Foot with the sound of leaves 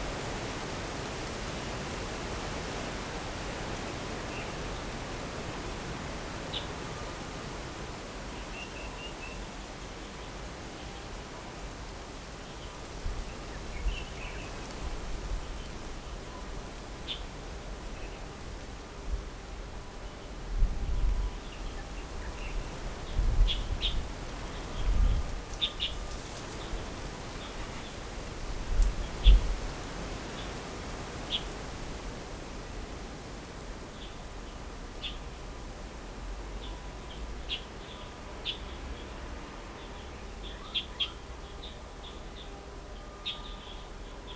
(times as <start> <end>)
8.9 44.3